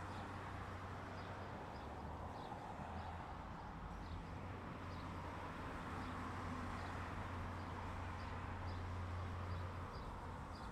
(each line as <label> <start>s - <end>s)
traffic noise 0.0s - 10.7s